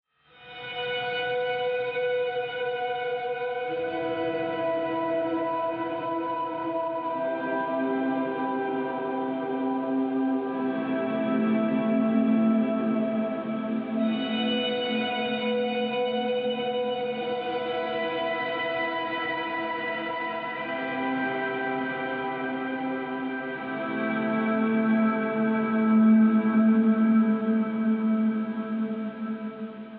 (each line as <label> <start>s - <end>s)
Ambient Guitar 0.3s - 29.9s